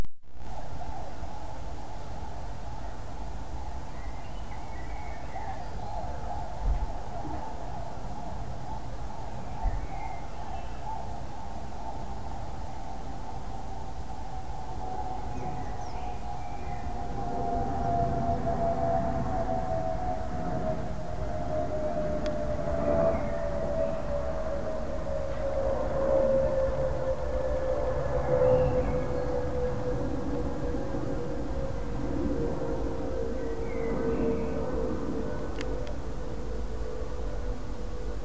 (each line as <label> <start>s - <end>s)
birdsong 2.7s - 13.2s
distant police siren 5.4s - 38.2s
jet flying overhead 11.2s - 38.2s
birdsong 14.8s - 17.4s
birdsong 22.8s - 24.6s
birdsong 28.2s - 29.6s
birdsong 33.1s - 35.8s